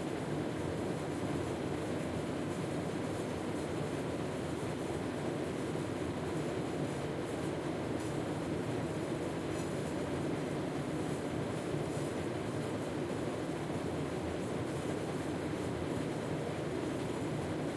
Air Conditioner Run 0:00.0 - 0:17.7

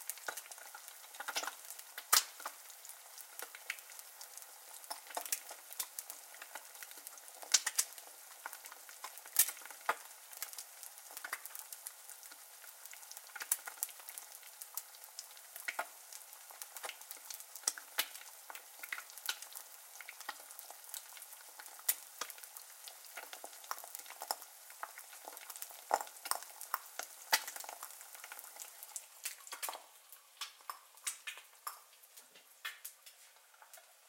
Frying an egg, high heat 0:00.0 - 0:34.0

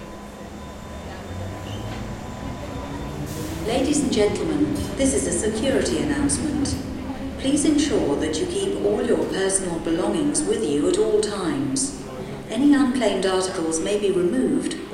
Train comming and leaving squeaky 0:00.0 - 0:14.9
female voice about closed stations and security 0:03.6 - 0:14.9

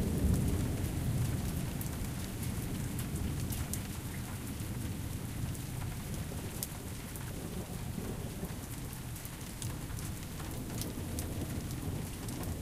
Long Rumbling Thunder 0:00.0 - 0:04.1
soft rain 0:00.0 - 0:12.6
wind 0:00.0 - 0:12.6
Long Rumbling Thunder 0:10.4 - 0:12.6

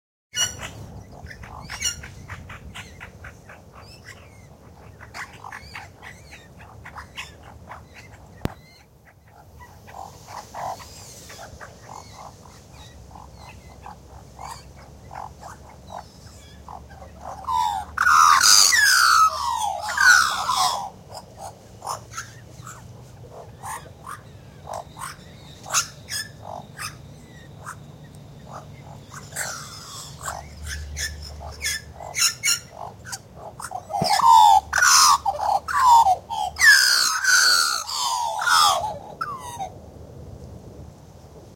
Magpie family group singing/calling 0:00.4 - 0:39.4

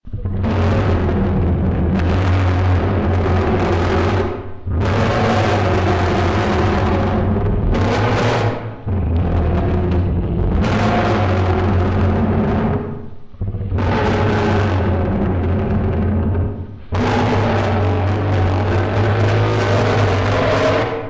Daeodon Noises 0:00.0 - 0:21.0

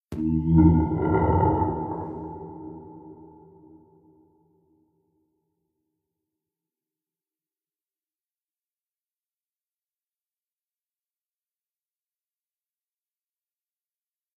growls 0:00.2 - 0:03.3

